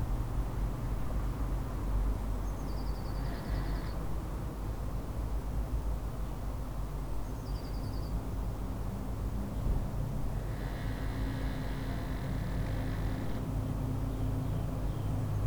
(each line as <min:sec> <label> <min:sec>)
0:00.0 traffic noise 0:05.8
0:08.0 traffic noise 0:15.4